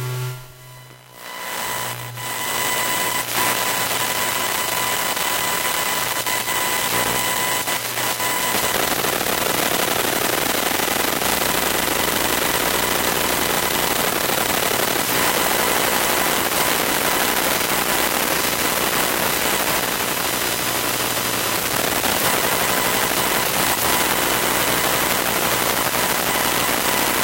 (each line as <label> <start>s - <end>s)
laptop working 0.0s - 27.2s